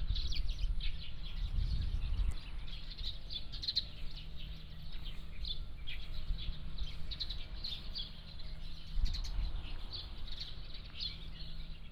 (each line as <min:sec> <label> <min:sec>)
0:00.0 Birds singing 0:11.9